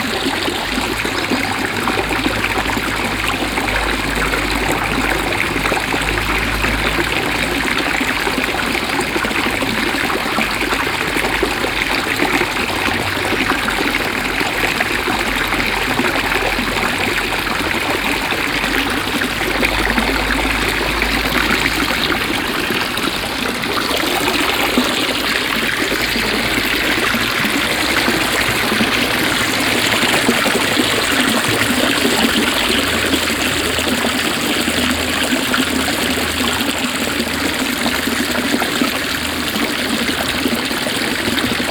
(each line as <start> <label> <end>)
0.0 two kids playing at the fountain 41.7
0.0 water being spreaded out of 4 different water arms 41.7